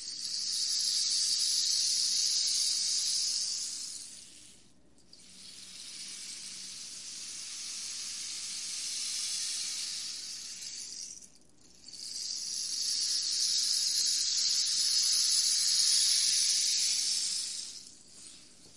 0.0s rainstick 18.7s

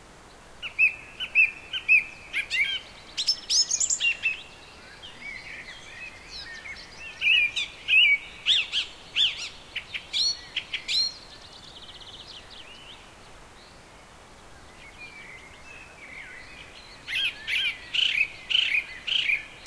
0.0s wind in trees 19.6s

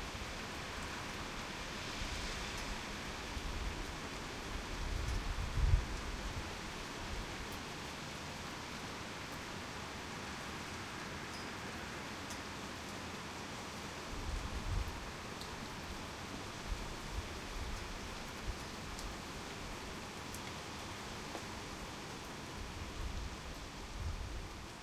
0.0s Heavy Rain Storm 24.8s

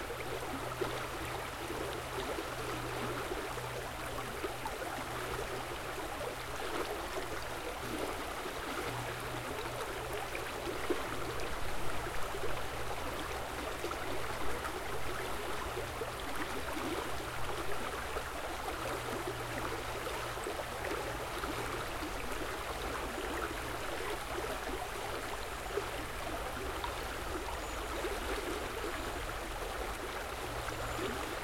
0.0s gurgling river 31.4s

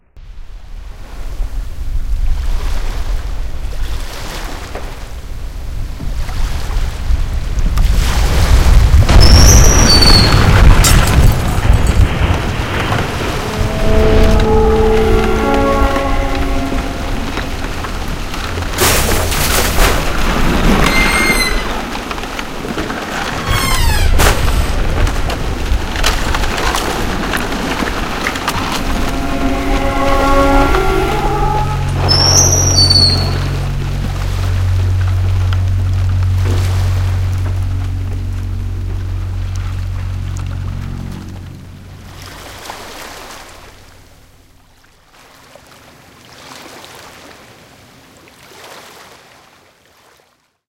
9.1s breaking 13.2s
17.7s breaking 28.6s

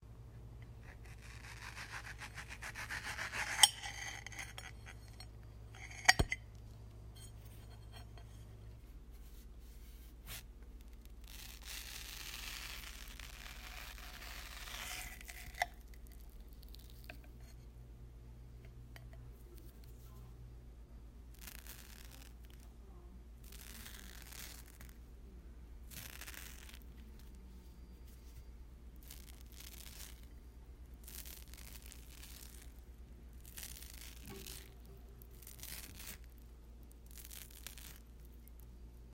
0.7s Cutting a mango on a ceramic plate 6.4s
13.5s Cutting a mango on a ceramic plate 15.9s

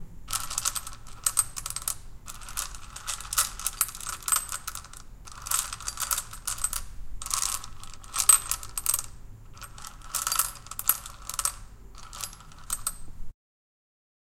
0.3s Moving pebbles in a glass bowl 13.0s

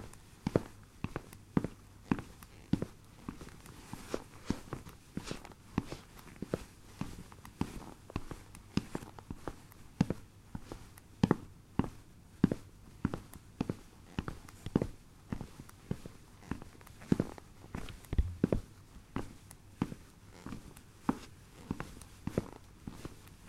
11.8s Walking on wooden floor with sport shoes 23.2s

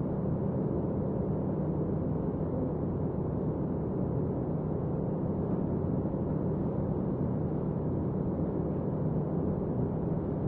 0.0s engine 10.4s
0.0s navy ship 10.4s

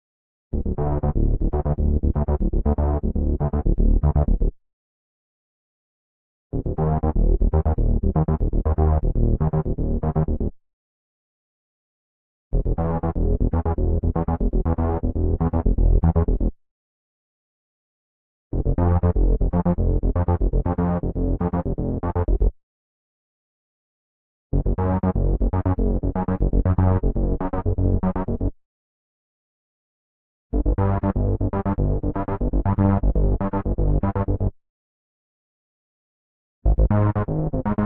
0.5s bassline 4.5s
6.5s bassline 10.6s
12.5s bassline 16.6s
18.5s bassline 22.5s
24.5s bassline 28.5s
30.5s bassline 34.5s
36.6s bassline 37.8s

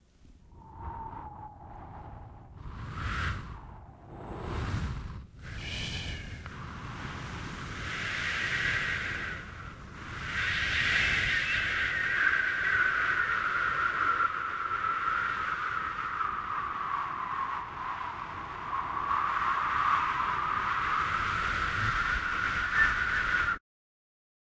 0.0s cold winterbreeze 23.6s

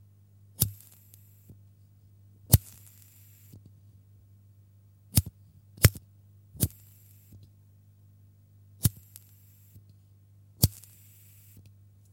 0.6s Lighting a lighter 1.5s
2.5s Lighting a lighter 3.6s
8.8s Lighting a lighter 9.8s
10.6s Lighting a lighter 11.7s

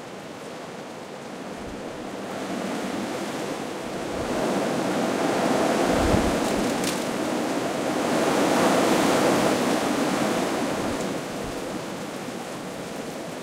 0.0s wind 13.4s

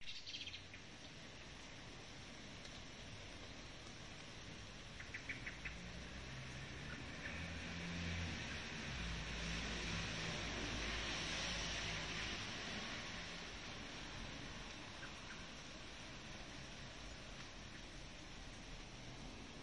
0.0s bird chirping 0.8s
5.1s car passing by 19.6s

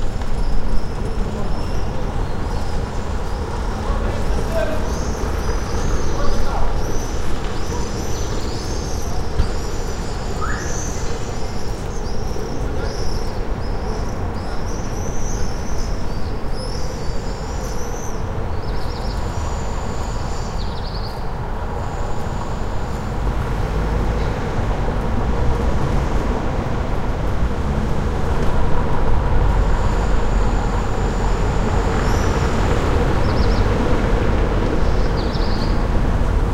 0.0s birds 24.5s
0.0s passersby 36.5s
0.0s traffic 36.5s
30.6s birds 34.0s

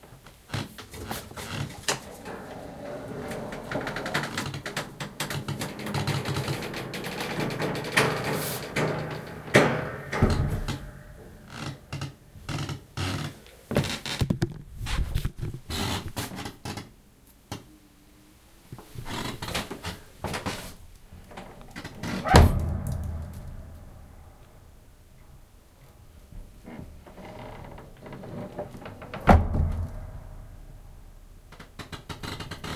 0.5s creak 8.7s
1.8s Attic Door Springs 12.2s
9.5s thump 11.2s
11.5s creak 14.3s
21.3s Attic Door Springs 24.6s
22.3s thump 24.7s
26.6s creak 29.3s
29.3s thump 30.6s
31.5s creak 32.7s

